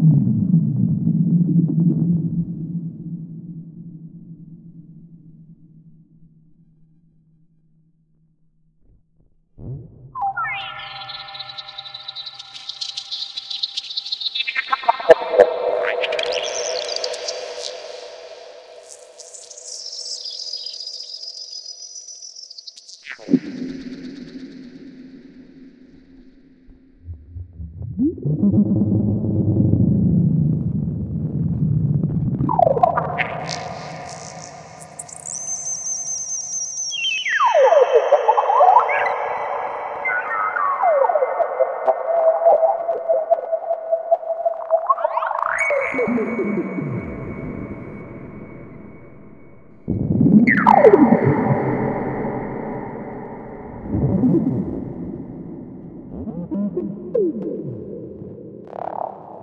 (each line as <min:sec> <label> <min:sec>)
0:45.6 drone 0:57.6